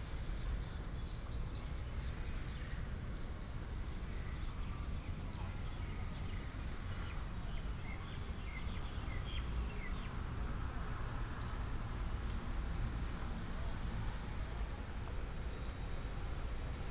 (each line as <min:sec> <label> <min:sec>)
0:06.2 Traffic sound 0:16.9